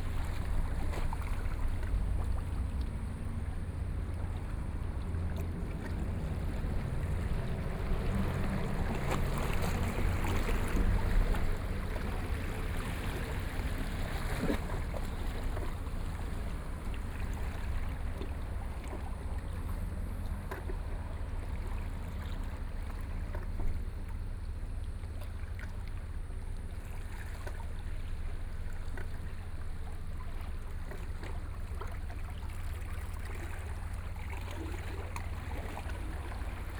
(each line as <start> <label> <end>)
0.0 waves 36.7